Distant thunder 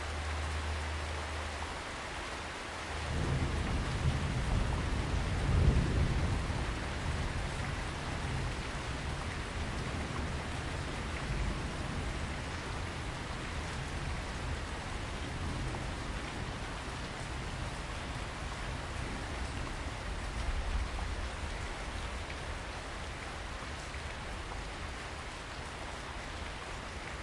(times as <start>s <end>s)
3.0s 21.6s